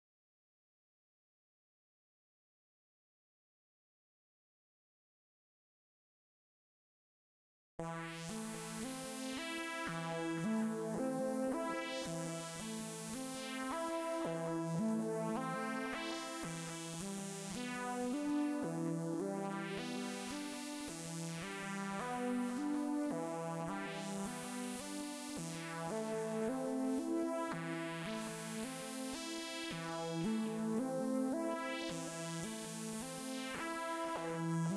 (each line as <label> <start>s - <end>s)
synthesizer 7.8s - 34.7s